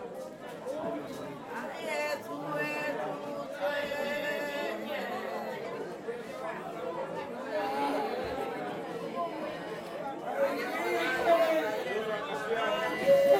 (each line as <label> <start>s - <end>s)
funeral ritual 10.2s - 13.3s